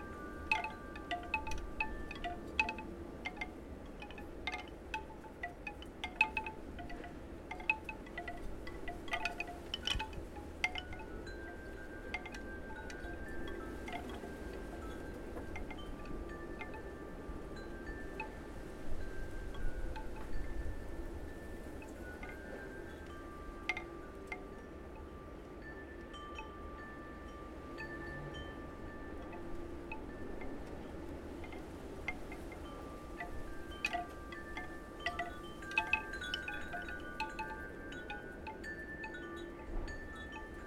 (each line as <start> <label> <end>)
0.0 chimes 40.6
0.0 wind 40.6